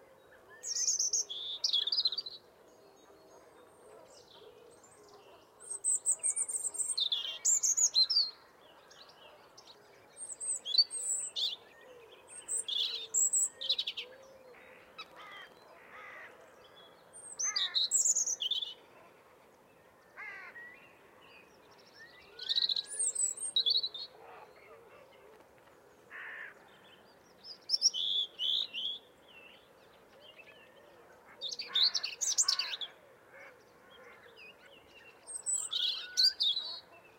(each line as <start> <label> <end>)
0.5 European robin singing 2.4
5.6 European robin singing 14.1
16.7 European robin singing 18.9
20.3 European robin singing 24.1
26.7 European robin singing 30.8
31.4 European robin singing 33.0
34.4 European robin singing 37.1